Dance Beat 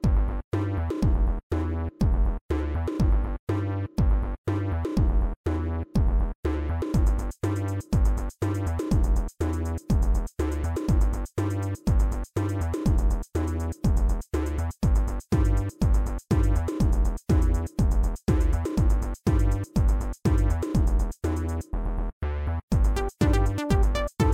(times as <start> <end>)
6.9 21.4, 22.7 24.3